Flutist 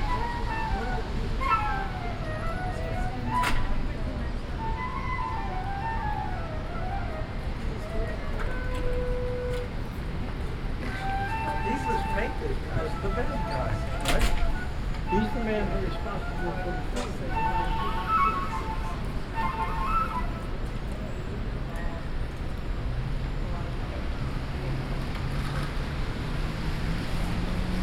0:00.0 0:21.2

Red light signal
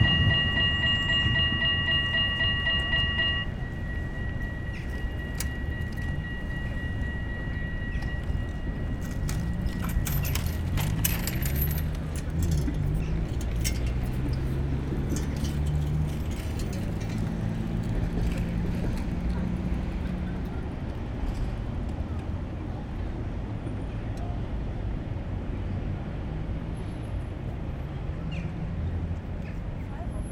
0:00.0 0:09.7

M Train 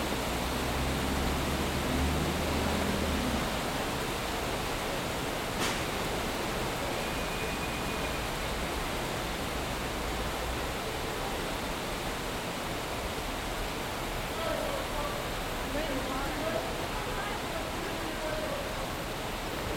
0:01.0 0:12.7

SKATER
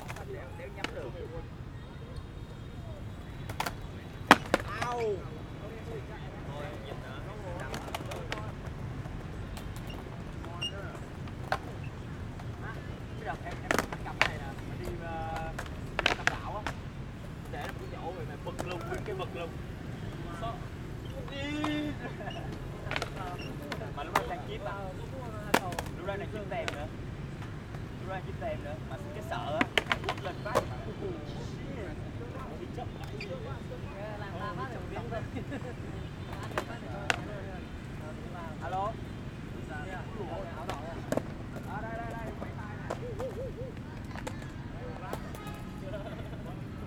0:02.9 0:05.3, 0:05.9 0:19.6, 0:20.5 0:30.8, 0:34.5 0:38.6, 0:40.0 0:46.8

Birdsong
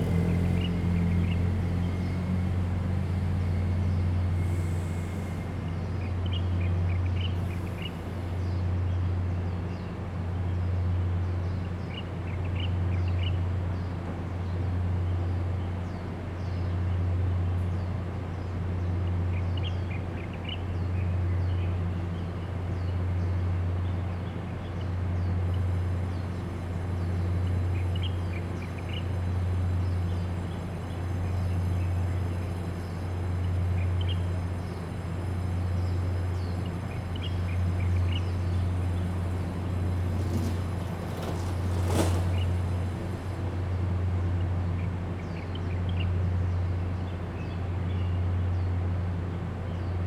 0:17.8 0:48.9

